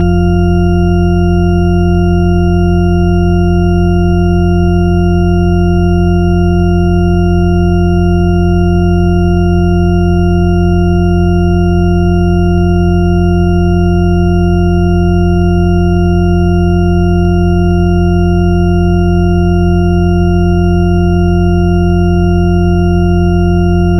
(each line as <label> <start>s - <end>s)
shepard tone 23.8s - 23.9s